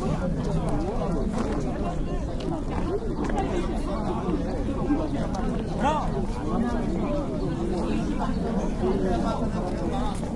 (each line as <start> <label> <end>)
0.0 Many -tourist guides- wait and talk 10.3